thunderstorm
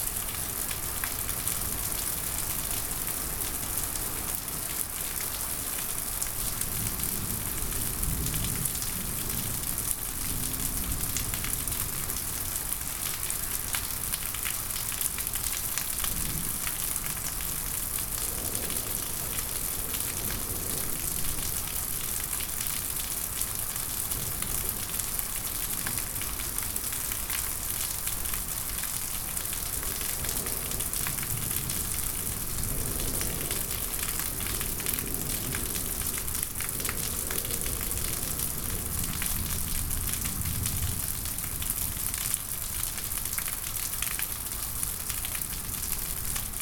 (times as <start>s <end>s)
16.1s 22.2s, 29.8s 42.0s